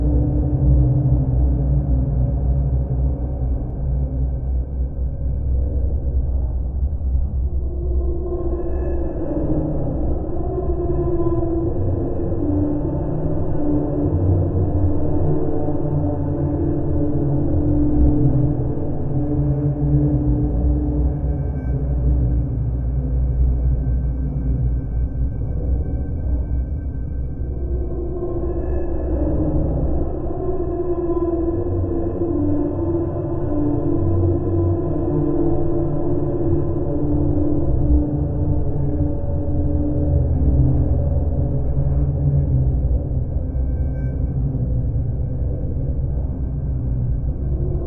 spooky drone sound 0:00.0 - 0:47.8

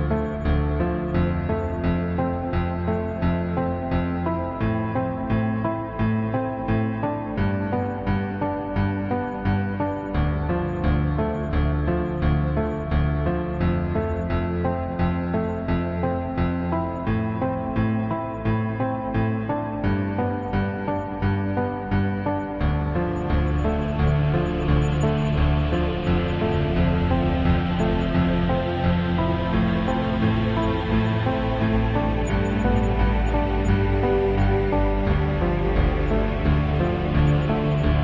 Cello 0:00.0 - 0:38.0
Chior 0:00.0 - 0:38.0
Piano 0:00.0 - 0:38.0

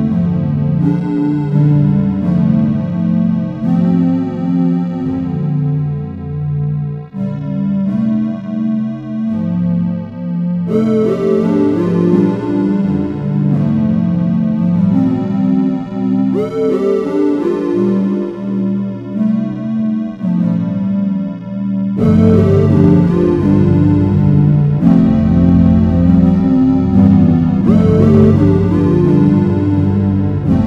melody 0:00.0 - 0:30.6

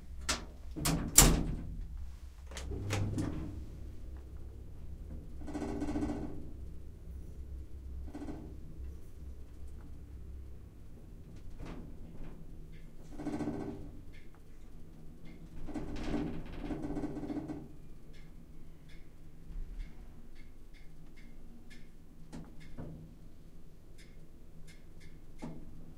shaky elevator 0:00.0 - 0:06.6
closing doors 0:00.2 - 0:01.8
closing doors 0:02.4 - 0:03.9

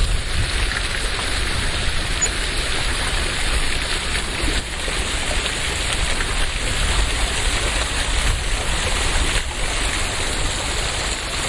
Small water fountain 0:00.0 - 0:11.4

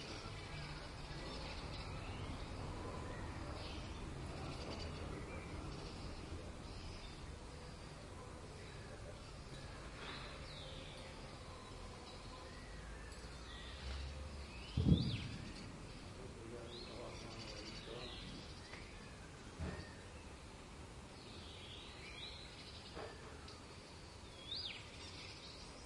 distant traffic 0:00.0 - 0:25.8
bird chirps 0:08.6 - 0:20.4
bird chirps 0:21.2 - 0:25.8

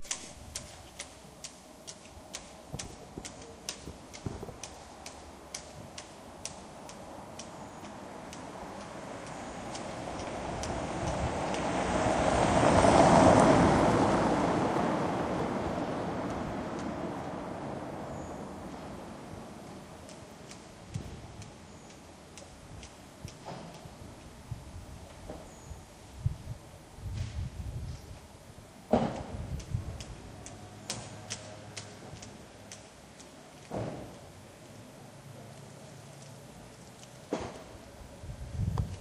rope constantly hitting a flagpole 0:00.0 - 0:12.9
passing car 0:07.0 - 0:21.3
rope constantly hitting a flagpole 0:18.6 - 0:25.5
rope constantly hitting a flagpole 0:28.8 - 0:37.9

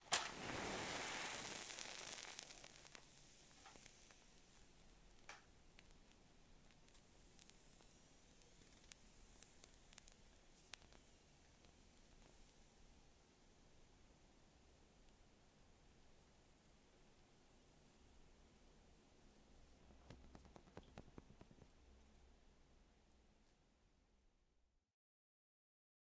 Match Strike 0:00.0 - 0:12.3

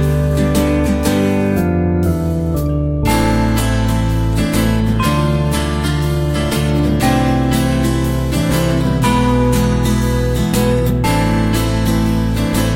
guitar 0:00.0 - 0:12.7
melody played on piano 0:00.0 - 0:12.7

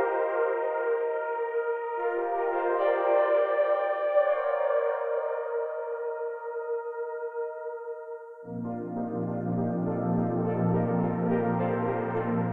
synth 0:08.5 - 0:12.5

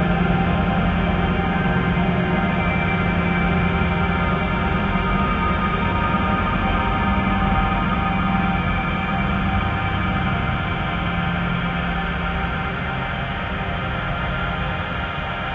slowly evolving dreamy ambient drone pad 0:00.0 - 0:15.5

